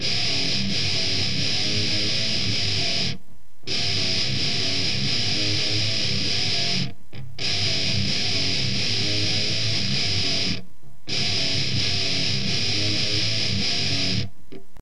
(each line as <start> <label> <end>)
0.0 guitar 14.8